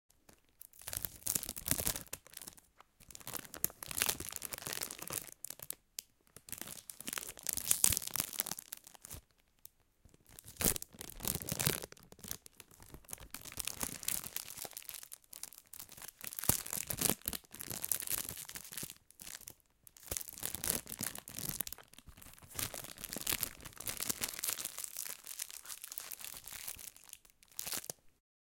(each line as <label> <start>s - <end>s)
Plastic packet crumpling 0.4s - 5.8s
Plastic packet crumpling 10.3s - 28.0s